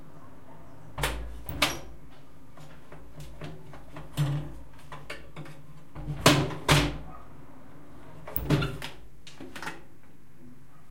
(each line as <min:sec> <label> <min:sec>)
0:01.0 window being closed and locked 0:02.0
0:08.3 window being closed and locked 0:09.0